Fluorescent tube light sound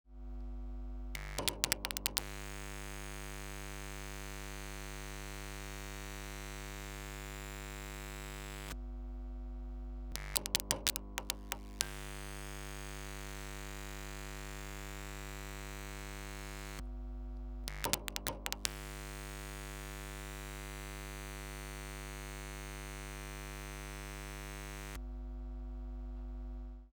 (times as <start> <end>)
1.2 2.6, 10.2 12.4, 17.7 19.1